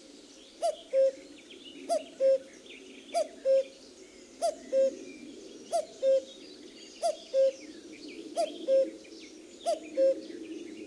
0.0s Very close common cuckoo 3.8s
4.4s Very close common cuckoo 6.4s
7.0s Very close common cuckoo 10.8s

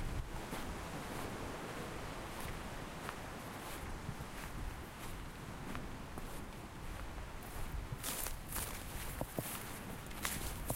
0.0s waves 10.7s
4.4s walking 10.7s

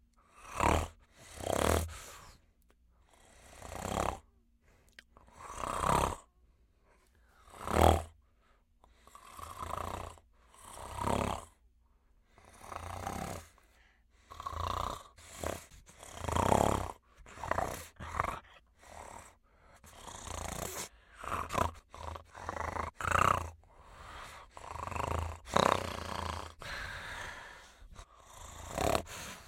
14.4s Velociraptor Snarls 29.4s

